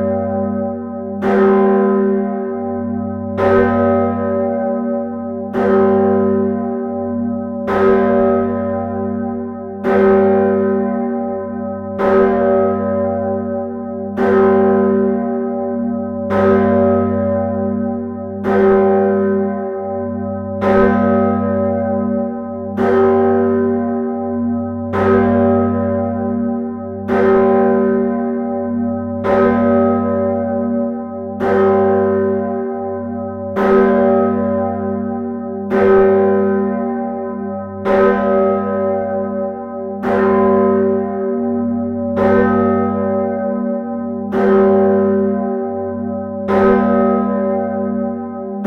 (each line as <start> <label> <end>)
0.0 big bell 48.6